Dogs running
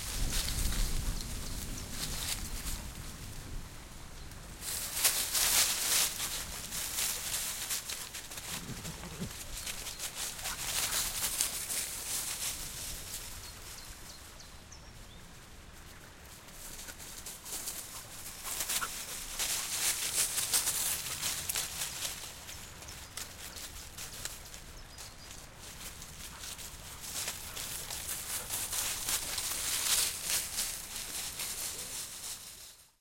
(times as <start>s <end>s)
4.9s 13.1s, 16.5s 32.4s